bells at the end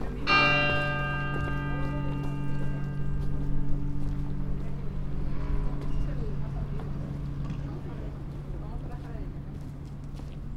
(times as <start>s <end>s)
0.2s 6.4s